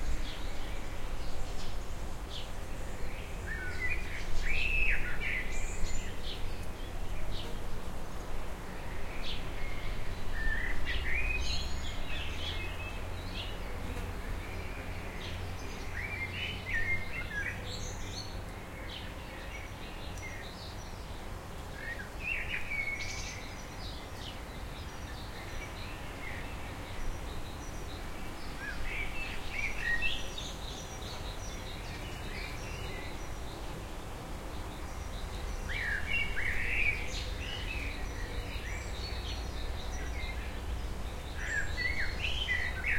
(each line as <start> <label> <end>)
0.0 wind 42.9